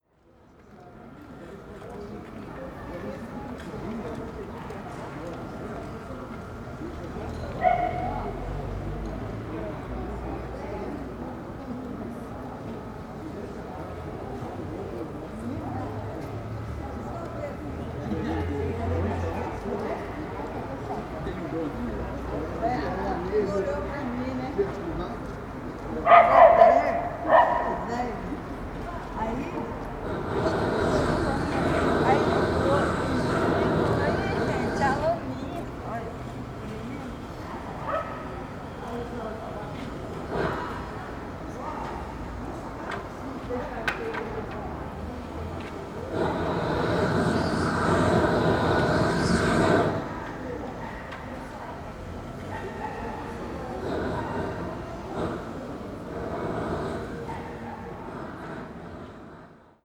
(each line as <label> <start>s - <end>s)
chatted in front of the offices 0.0s - 59.8s
people passed by 0.1s - 59.8s
Works on Holiday 18.4s - 59.8s
torch 30.0s - 35.2s
torch 46.1s - 50.4s
torch 53.8s - 59.7s